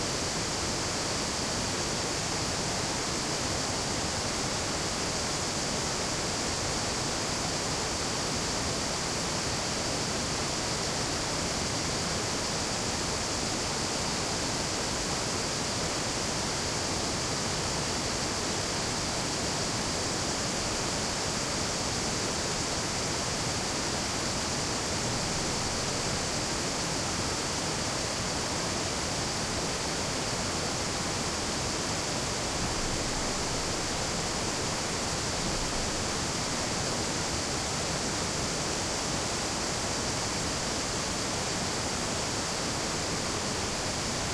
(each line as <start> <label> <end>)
0.0 crickets are chirping audibly 44.3
0.0 small brook flowing to the falls 44.3
0.0 waterfalls 44.3